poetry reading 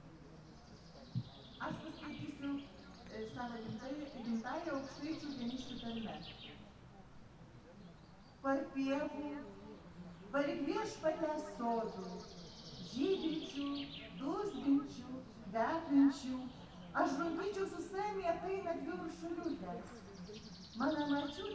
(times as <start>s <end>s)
1.5s 6.5s